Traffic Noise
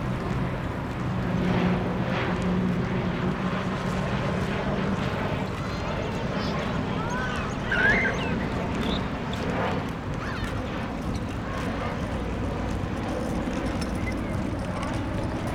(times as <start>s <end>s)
0.0s 3.3s, 12.1s 15.5s